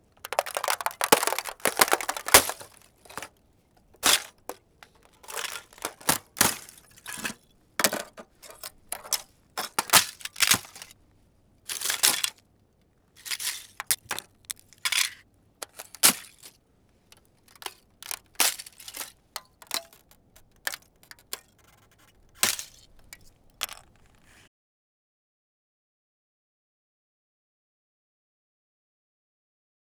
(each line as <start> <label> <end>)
0.2 Breaking ice. glass. shards 3.3
4.0 Breaking ice. glass. shards 10.9
11.7 Breaking ice. glass. shards 12.3
14.8 Breaking ice. glass. shards 16.5
17.6 Breaking ice. glass. shards 20.0